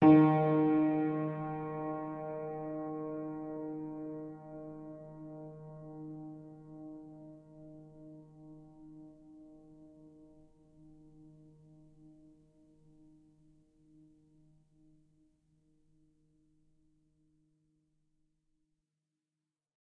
piano 0:00.0 - 0:13.5

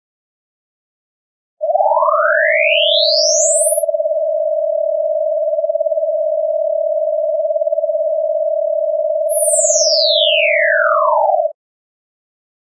Ascending / Descending snyth note 0:09.0 - 0:09.9

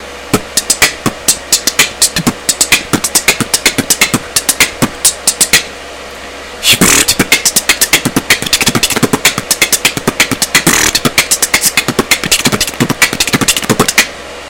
beatbox 0:00.3 - 0:05.7
beatbox 0:06.6 - 0:14.2

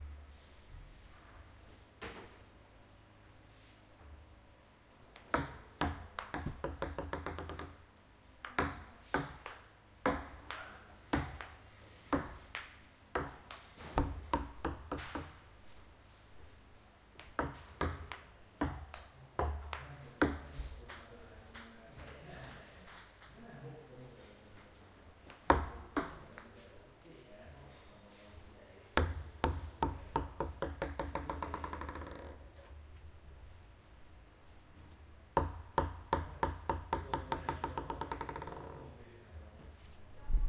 Playing ping-pong 0:05.1 - 0:15.4
Playing ping-pong 0:17.2 - 0:23.5
Playing ping-pong 0:25.3 - 0:26.6
Playing ping-pong 0:29.0 - 0:32.8
Playing ping-pong 0:35.4 - 0:39.0

